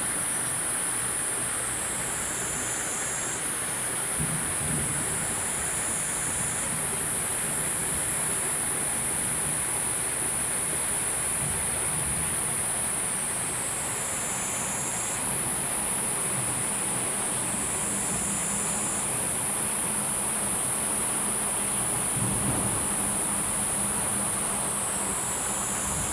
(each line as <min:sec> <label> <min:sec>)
0:00.0 water 0:26.1
0:00.6 Insect sounds 0:26.1
0:22.1 thunder 0:23.6